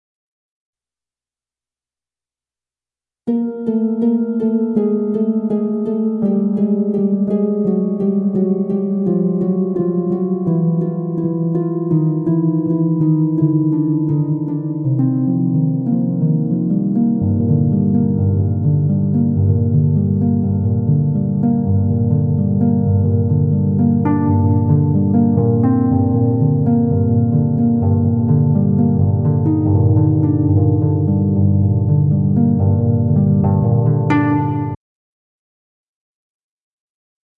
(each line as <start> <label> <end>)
3.3 descending harp 34.8